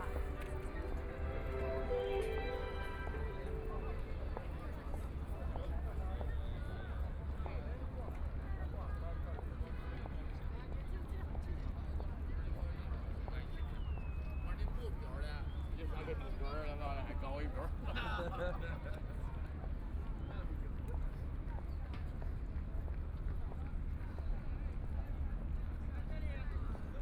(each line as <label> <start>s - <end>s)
tourists coming and going 0.0s - 5.8s
Ship in the river 0.0s - 12.2s